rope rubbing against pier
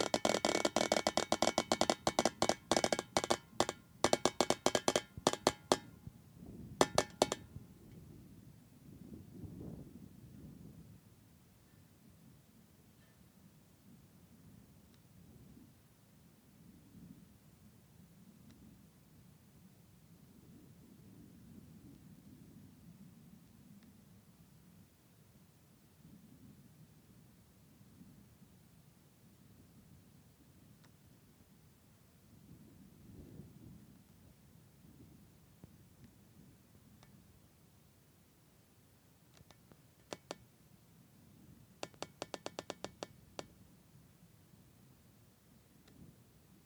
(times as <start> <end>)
0.0 5.8